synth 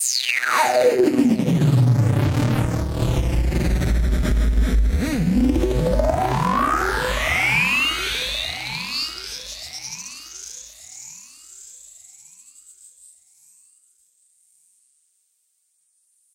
0:00.4 0:10.5

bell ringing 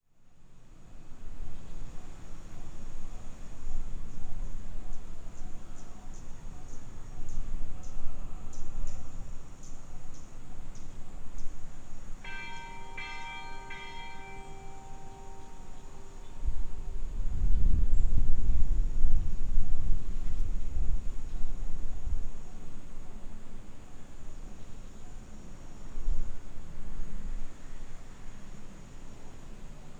0:12.2 0:16.8

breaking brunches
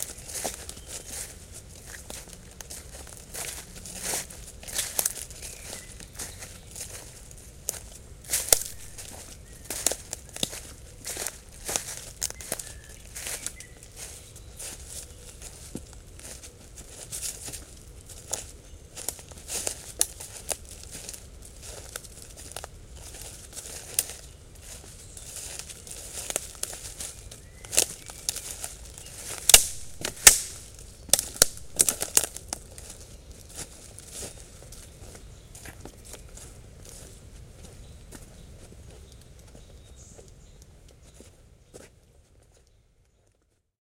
0:29.5 0:32.4

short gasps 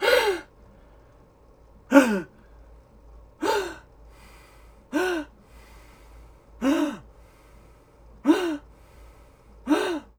0:00.0 0:00.5, 0:01.9 0:02.5, 0:03.4 0:10.1

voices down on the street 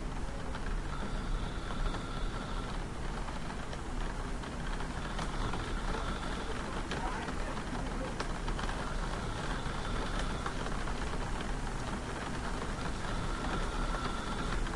0:05.0 0:11.0

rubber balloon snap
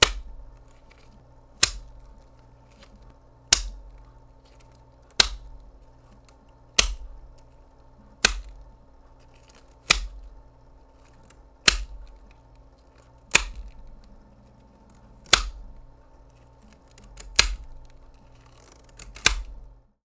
0:06.8 0:07.2, 0:11.6 0:12.1

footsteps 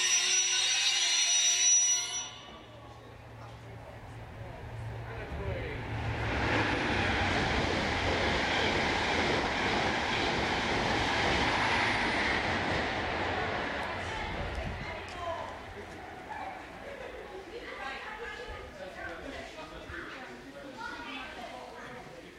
0:13.8 0:16.8

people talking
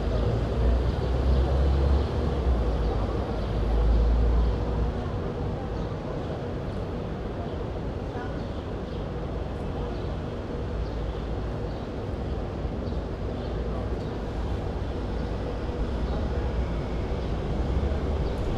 0:13.6 0:18.5

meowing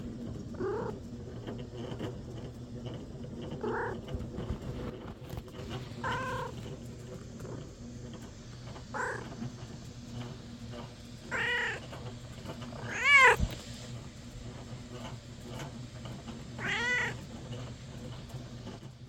0:03.6 0:04.0, 0:06.0 0:06.5, 0:09.0 0:09.3, 0:11.3 0:11.9, 0:12.8 0:13.4, 0:16.6 0:17.2

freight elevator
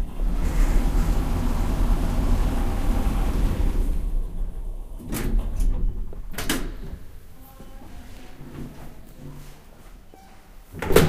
0:00.0 0:07.2

